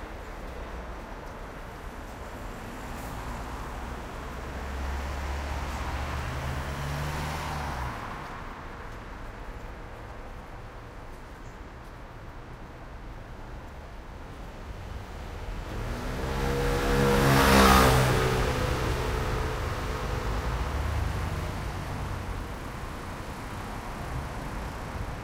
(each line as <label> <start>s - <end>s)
medium speed cars 0.0s - 25.2s
motorcycle 14.7s - 25.1s